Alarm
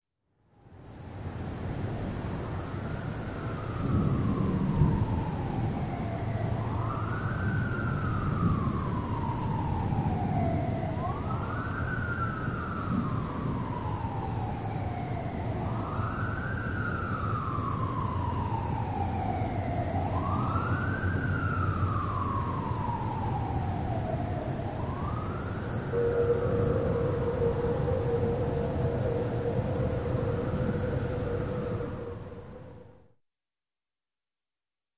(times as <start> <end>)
3.9 6.0, 6.7 24.2, 24.8 32.4